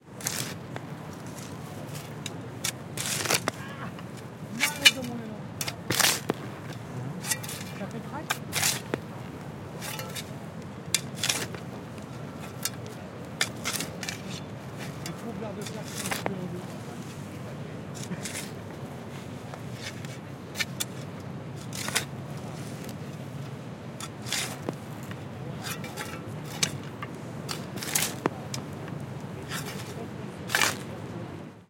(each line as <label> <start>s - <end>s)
digging a hole 0.1s - 17.1s
digging a hole 17.9s - 31.6s